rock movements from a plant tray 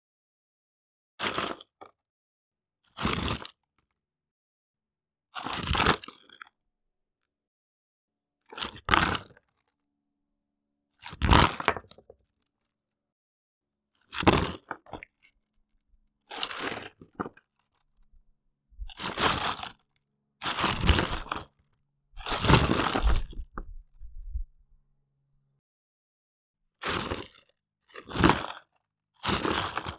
20.5s 21.5s, 22.2s 24.4s

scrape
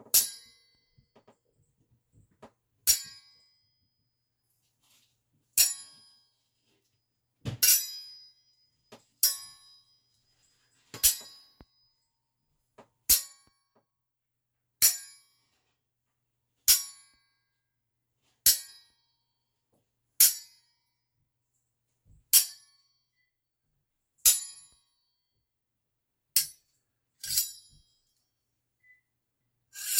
4.6s 5.2s, 27.2s 27.7s, 29.8s 29.9s

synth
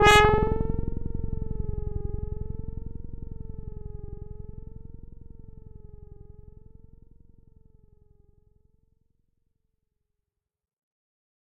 0.0s 2.8s

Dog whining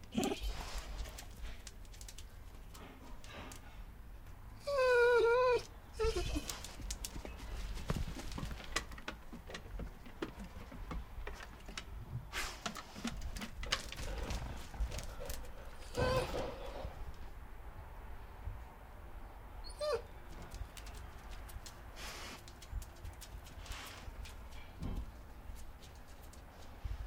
0.1s 0.6s, 4.6s 6.7s, 15.8s 16.9s, 19.6s 20.2s

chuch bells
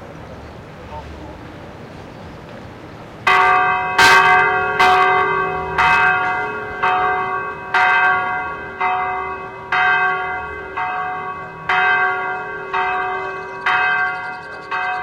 3.3s 15.0s

